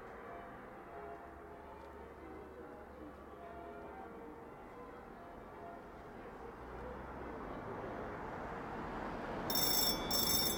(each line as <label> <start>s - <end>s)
bells of St. Giles 9.5s - 10.5s
old school telephone bell 9.5s - 10.5s